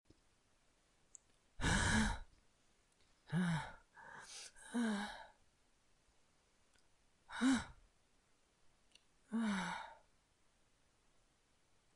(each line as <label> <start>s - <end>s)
breath 1.6s - 2.3s
breath 3.3s - 5.4s
breath 9.3s - 10.1s